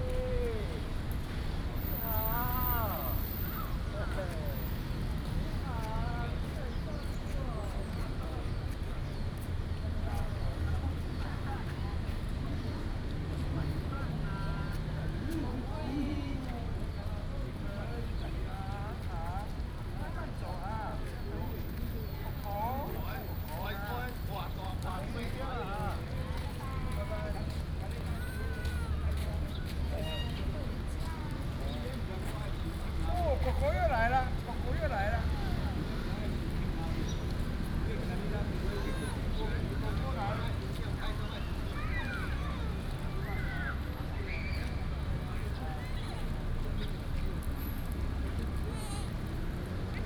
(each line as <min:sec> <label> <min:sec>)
0:00.0 Traffic Sound 0:50.0
0:10.8 The elderly and children 0:46.5